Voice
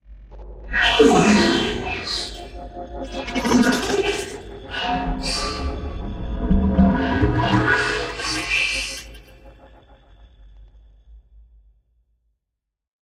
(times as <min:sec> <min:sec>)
0:00.7 0:06.0, 0:06.9 0:09.2